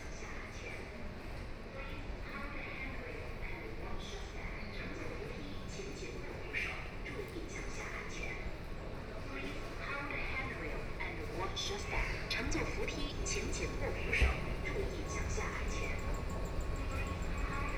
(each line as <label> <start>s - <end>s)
walking in the station 0.0s - 17.7s